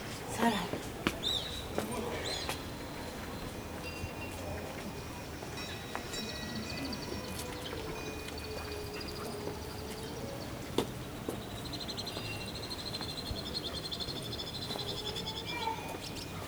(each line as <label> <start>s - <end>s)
tourists and helpers of the monastry pass 0.0s - 16.4s
herds of goats, sheep and cows 0.0s - 11.8s